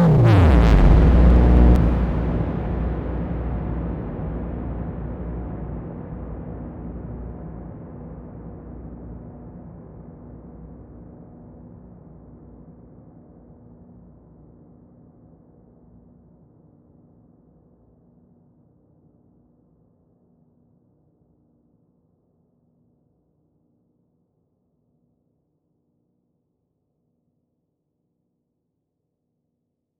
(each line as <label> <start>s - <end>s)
Frequency Drop with Heavy Reverb 0.0s - 2.6s